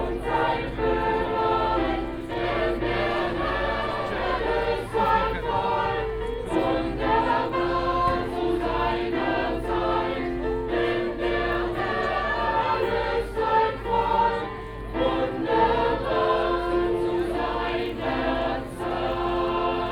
0.0s singers 19.9s
0.0s voices 19.9s

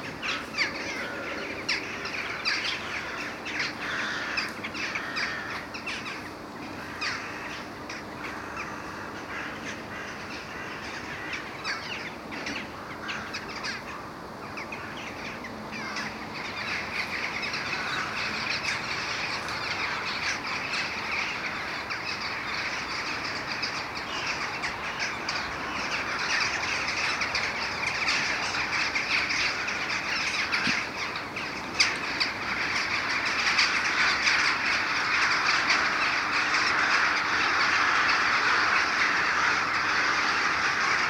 0.0s Crows and jackdaws war 41.0s

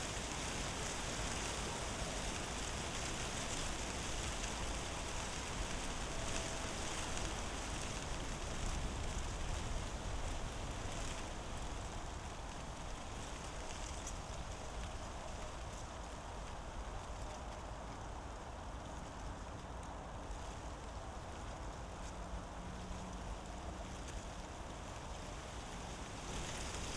0.0s dry leaves rattling in the wind 26.9s

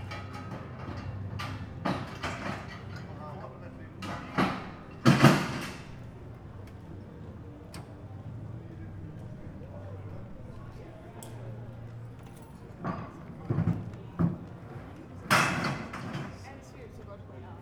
0.0s Workers packing up a scaffold 6.8s
11.9s Workers packing up a scaffold 17.2s

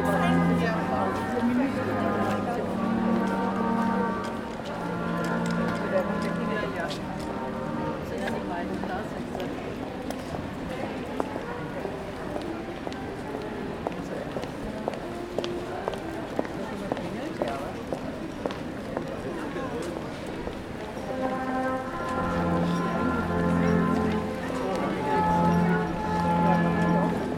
0.0s Christmas music 8.7s
20.8s Christmas music 27.3s

